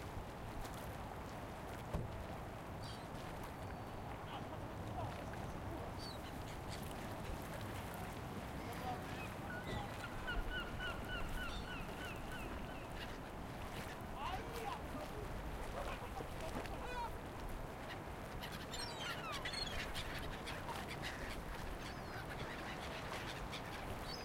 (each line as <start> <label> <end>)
8.1 Conversations 18.4
8.7 gulls 14.0
17.8 gulls 24.2